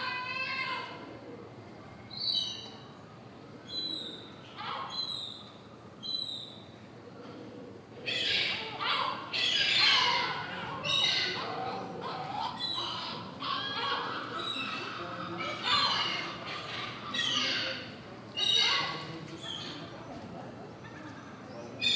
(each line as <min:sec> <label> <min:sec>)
0:07.4 Seagulls nest on the church 0:20.2